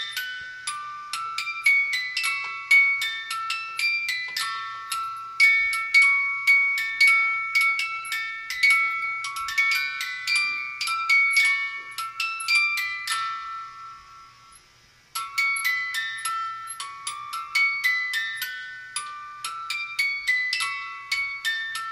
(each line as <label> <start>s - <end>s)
plastic Santa head music box that plays jingle bells 0.0s - 21.9s